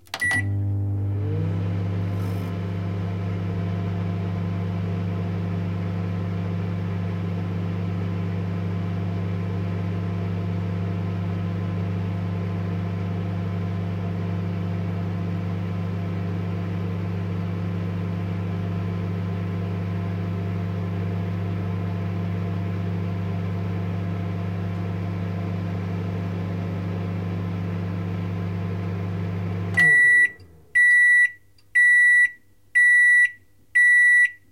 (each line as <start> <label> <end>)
0.0 Microwave 34.5